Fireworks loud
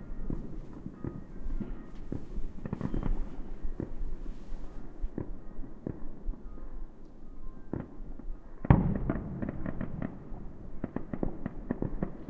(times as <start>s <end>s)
0.3s 4.3s, 8.6s 12.2s